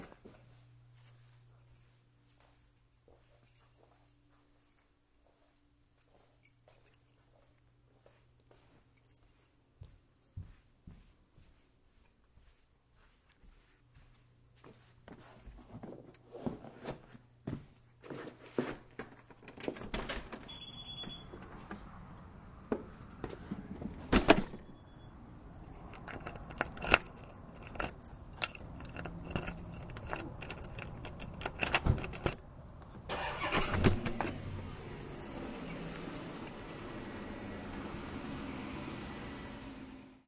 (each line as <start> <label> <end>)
1.3 keys 10.0
19.0 locking 21.8
19.1 keys 21.8
20.5 beeping 21.4
23.9 locking 24.7
24.2 keys 32.4
24.6 beeping 25.3
25.6 rattling 32.4
25.6 locking 32.4
33.0 locking 34.4
35.4 keys 38.1